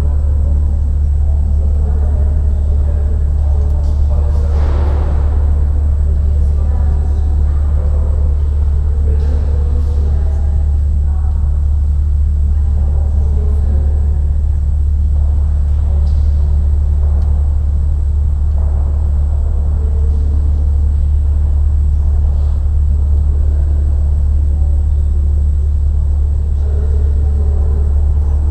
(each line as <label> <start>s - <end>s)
Air conditionning system 0.0s - 28.5s